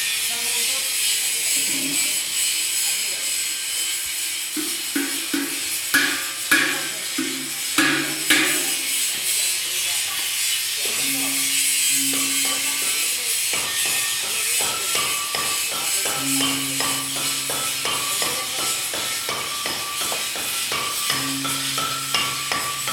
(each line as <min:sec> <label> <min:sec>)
0:00.0 grinding, tuning and hammering Gongs 0:22.9